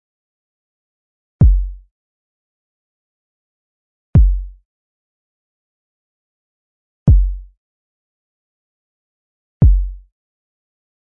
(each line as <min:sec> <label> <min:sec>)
0:01.4 Kick Drum 0:01.9
0:04.2 Kick Drum 0:04.6
0:07.1 Kick Drum 0:07.5
0:09.6 Kick Drum 0:10.1